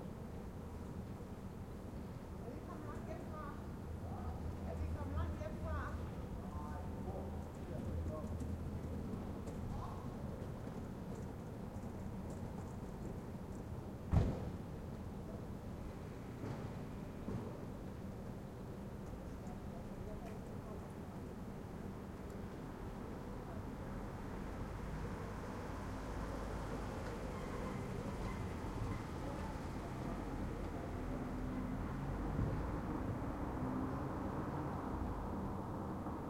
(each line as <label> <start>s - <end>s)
cars 24.0s - 36.2s
bike 25.0s - 36.2s